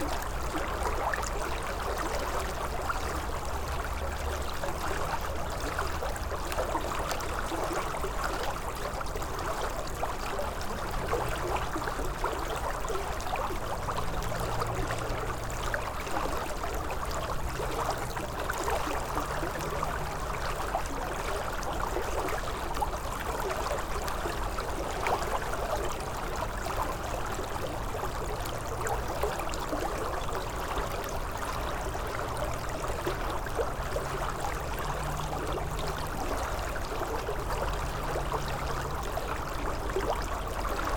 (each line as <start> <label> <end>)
0.0 crystal river 40.9